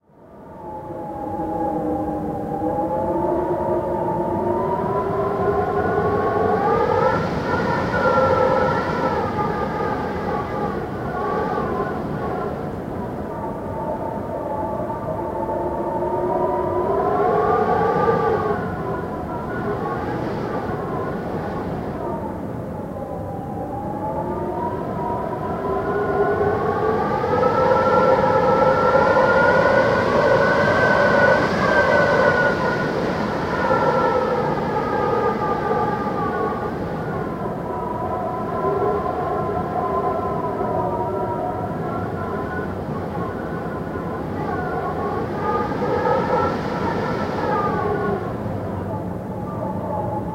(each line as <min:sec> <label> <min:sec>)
0:00.0 Hallway Wind Noise 0:50.3